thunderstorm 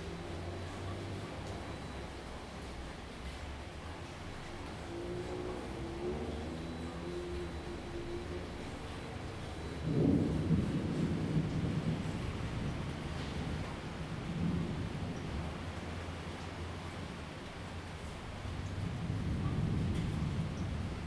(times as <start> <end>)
4.5 21.0